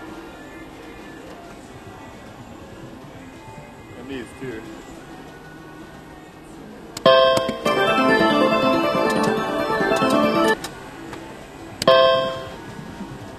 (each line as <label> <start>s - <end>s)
slot machine noises 7.1s - 10.6s
slot machine noises 11.8s - 12.7s
Wheel of fortune bell 11.9s - 12.6s